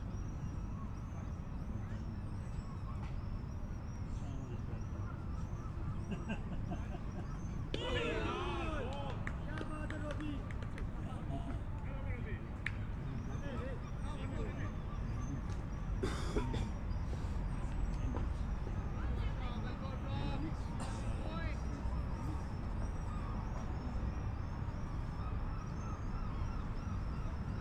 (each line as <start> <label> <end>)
7.0 Cricket match 16.0